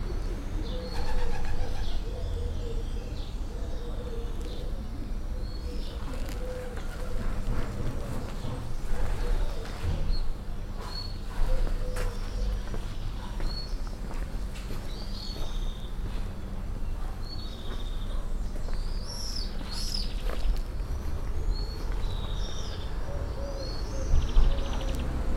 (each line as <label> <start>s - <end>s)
murmuring pigeons 0.0s - 10.5s
traffic from distance 0.0s - 25.3s
flaying pigeons 0.7s - 2.1s
murmuring pigeons 11.2s - 13.5s
murmuring pigeons 21.0s - 25.3s